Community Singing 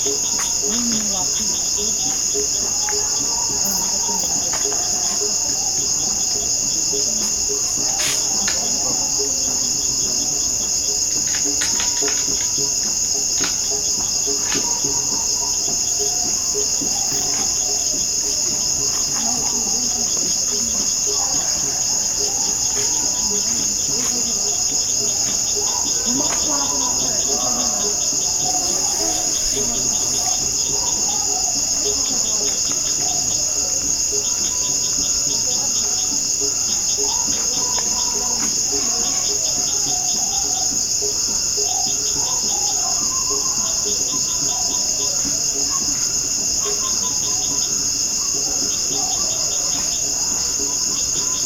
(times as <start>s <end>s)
0.0s 34.6s